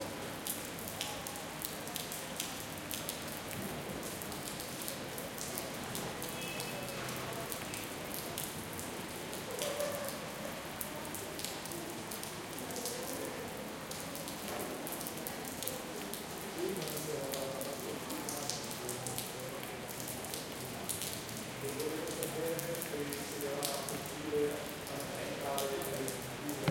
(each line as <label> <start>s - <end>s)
Rain on the street 0.0s - 26.7s
people 4.5s - 26.7s